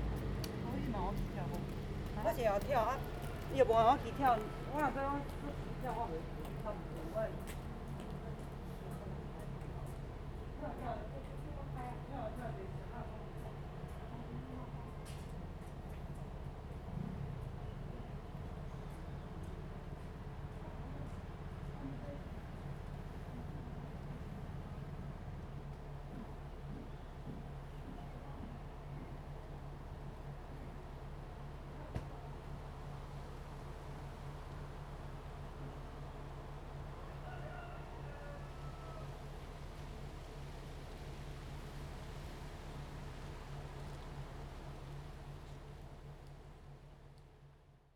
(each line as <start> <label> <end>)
0.0 Wind 47.9